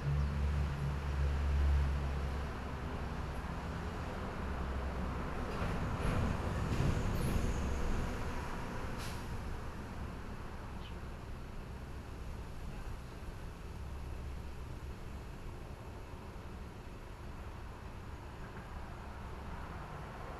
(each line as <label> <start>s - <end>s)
Train traveling through 2.1s - 10.7s